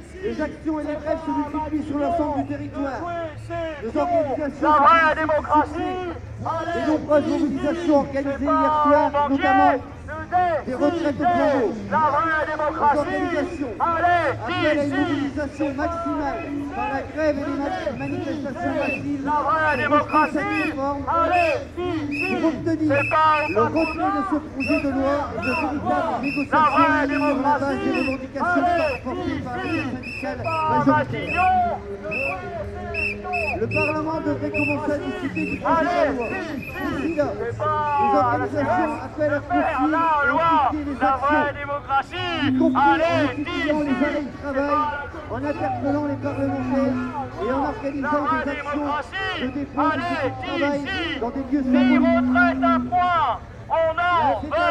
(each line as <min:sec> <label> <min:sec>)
0:00.0 revendications et slogans 0:54.7